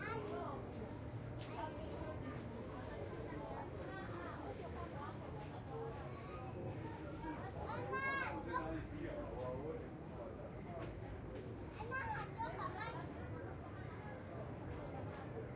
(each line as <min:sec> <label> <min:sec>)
0:00.0 children 0:00.7
0:06.2 children 0:08.8
0:11.7 children 0:13.4